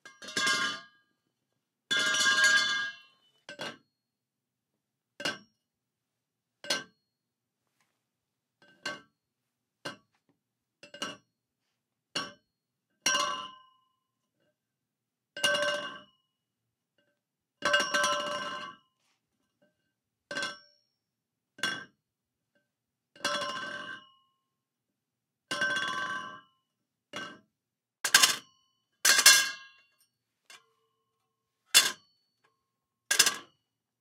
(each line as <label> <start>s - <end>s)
metal ring 29.1s - 30.8s
metal ring 31.7s - 32.5s
metal ring 33.1s - 33.6s